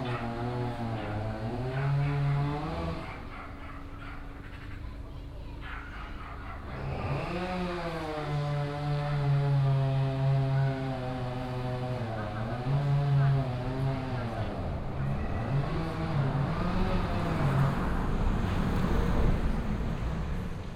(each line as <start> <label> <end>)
0.0 chain saw working 3.4
0.0 dog barking 4.8
0.0 passing by traffic on the main road 20.7
5.5 dog barking 7.2
6.7 chain saw working 18.0